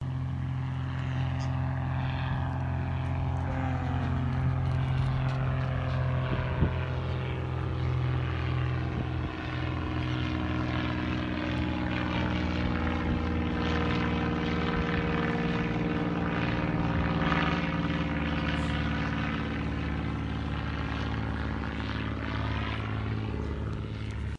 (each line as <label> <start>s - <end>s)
small plane taking off and flying overhead 0.0s - 24.3s